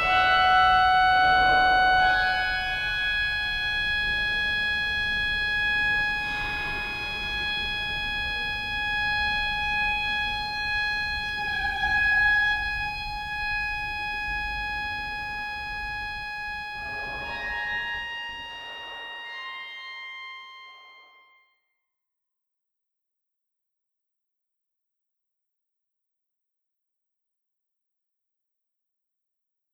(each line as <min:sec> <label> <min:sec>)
0:00.0 organ tune 0:09.2